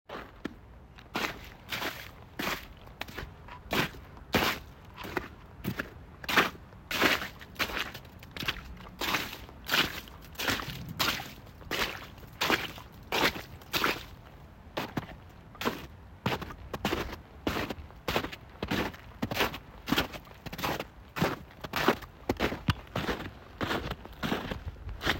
Boots walking through icey and soft snow 0:00.1 - 0:25.1

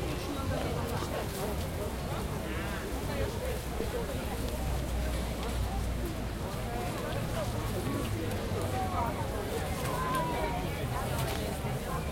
market walla 0:00.0 - 0:12.1

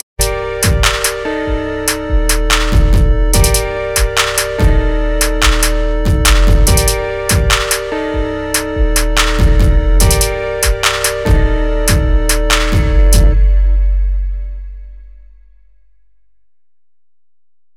trap beat 0:00.0 - 0:14.7

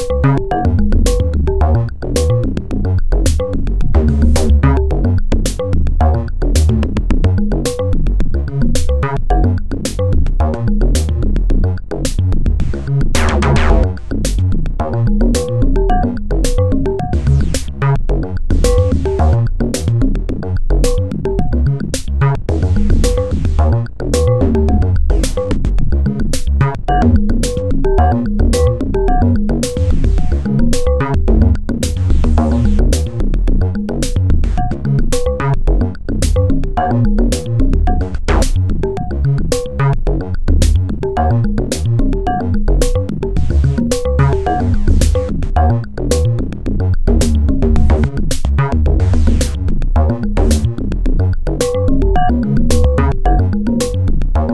bass 0:00.0 - 0:54.5
drums 0:00.0 - 0:54.5
synthesizer 0:00.0 - 0:54.5

